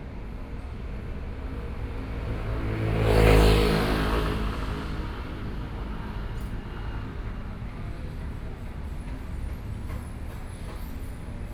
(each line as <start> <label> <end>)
0.0 traffic noise 9.9